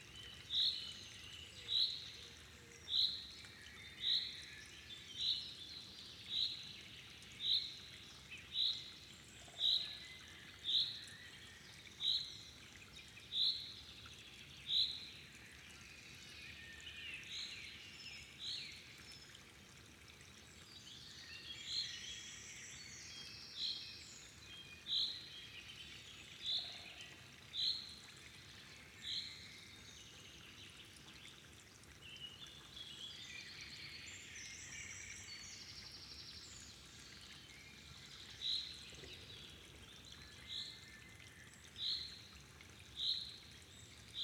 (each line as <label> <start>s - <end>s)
smaller watercourses and streams 0.0s - 44.2s